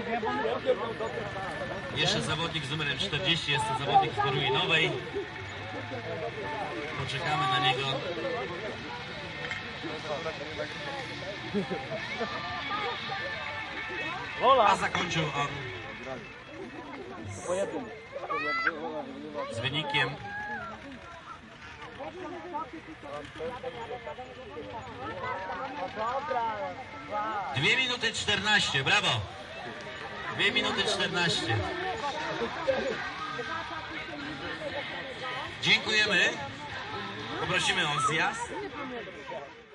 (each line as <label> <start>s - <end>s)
crowd 0.0s - 39.7s
race of tractors 0.0s - 39.7s